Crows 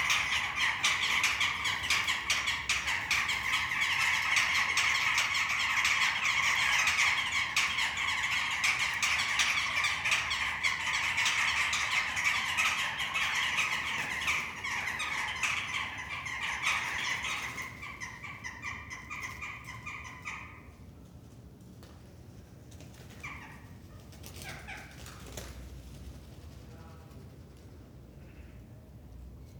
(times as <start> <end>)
0.0 20.8, 24.3 25.5